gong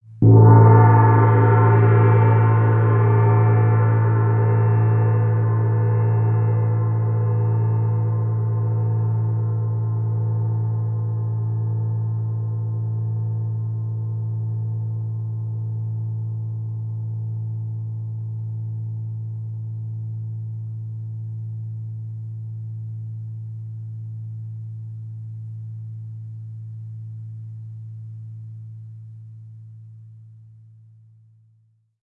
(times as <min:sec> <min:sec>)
0:00.2 0:22.0